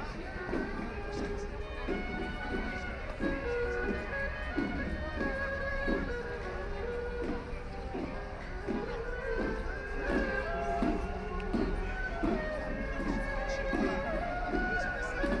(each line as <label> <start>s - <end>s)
shǒu gǔ 0.0s - 15.4s
walking 0.0s - 15.4s